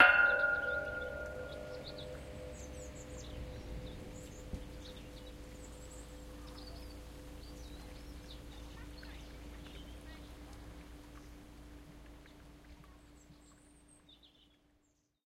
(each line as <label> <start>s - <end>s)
hitting a large metal pole 0.0s - 4.9s
birds in the background 0.0s - 15.2s